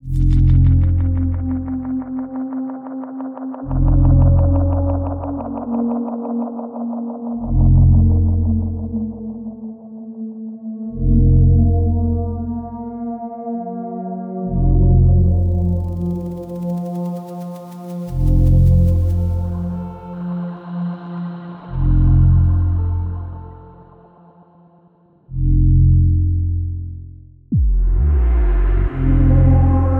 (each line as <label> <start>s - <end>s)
droning atmosphere 15.0s - 21.0s